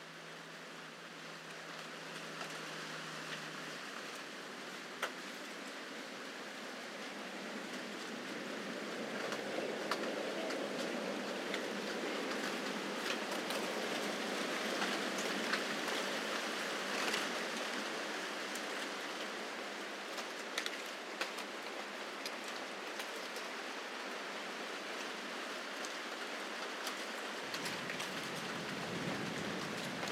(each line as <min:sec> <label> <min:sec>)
0:26.2 Oak leaves falling 0:30.1